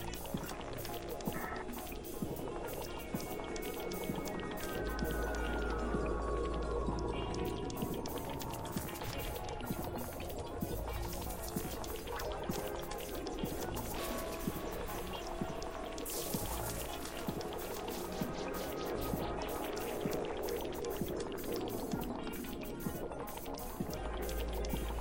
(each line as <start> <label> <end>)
0.0 water 25.0